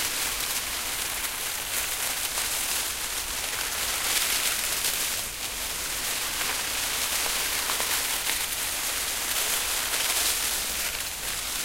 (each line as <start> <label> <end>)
0.0 Rustling Dead Leaves By Hand 11.6